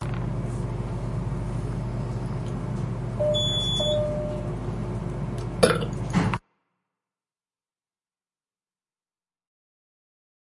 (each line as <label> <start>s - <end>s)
burp in an elevator 5.6s - 6.1s